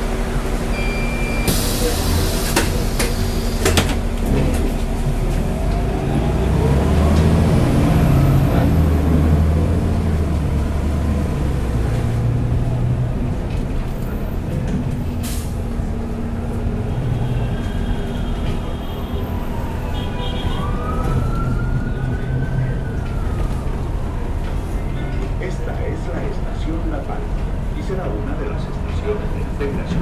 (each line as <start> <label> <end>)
0.0 buses 30.0
24.7 Voces 30.0